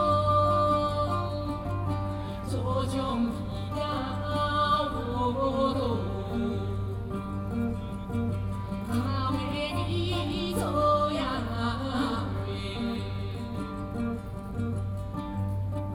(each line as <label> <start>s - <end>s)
Hakka singer 0.0s - 15.9s